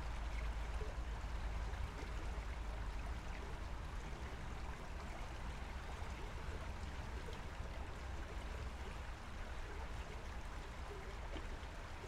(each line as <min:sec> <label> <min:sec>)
0:00.0 river 0:12.0